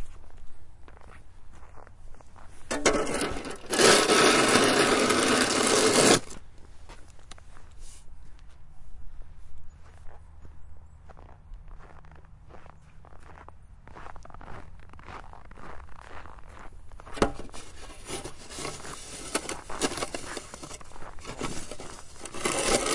Shoveling Snow 2.7 - 6.4
Shoveling Snow 17.2 - 22.9

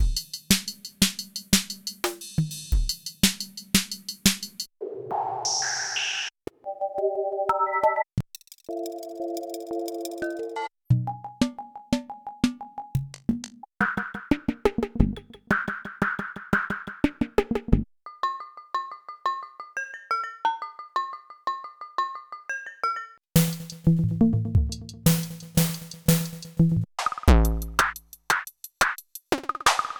hi hat 0.0 - 4.7
snare 3.2 - 6.3
glitch sounds as the presets load 4.8 - 6.3
tom tom 23.4 - 29.9
hi hat 24.9 - 29.3
snare 29.6 - 29.9

